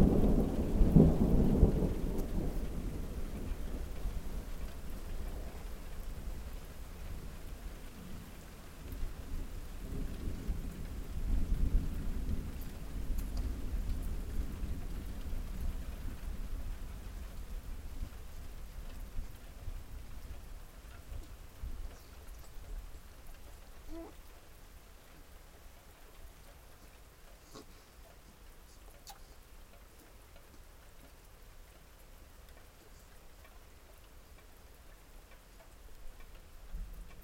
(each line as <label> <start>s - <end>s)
thunderstorm 0.0s - 23.1s